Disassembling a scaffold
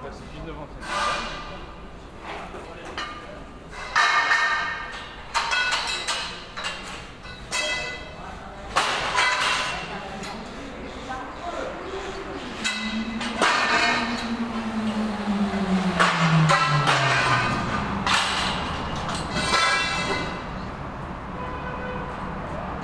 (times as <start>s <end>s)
0.8s 10.6s, 12.4s 15.0s, 16.0s 20.5s